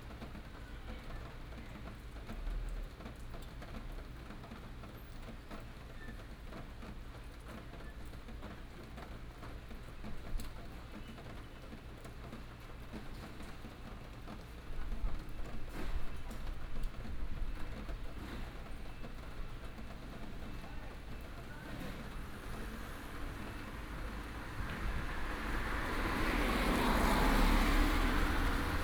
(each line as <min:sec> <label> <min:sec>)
0:00.0 rain 0:28.8
0:07.5 traffic sound 0:28.8